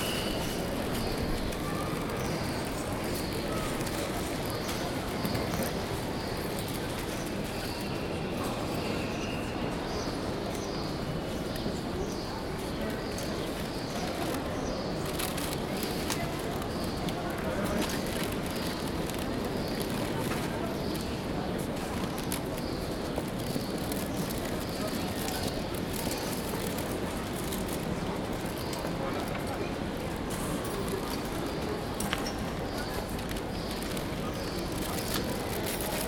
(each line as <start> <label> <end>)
0.0 birds 36.0
0.0 customers 36.0